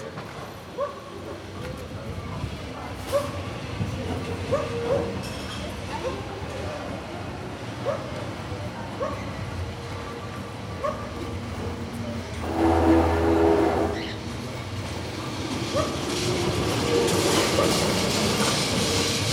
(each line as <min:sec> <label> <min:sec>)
0:00.0 owner of the cafe, standing in front door talking 0:14.6
0:00.0 old trams passing by 0:19.3
0:00.8 dog barking 0:01.0
0:04.5 dog barking 0:05.1
0:09.0 dog barking 0:09.2
0:10.8 dog barking 0:11.1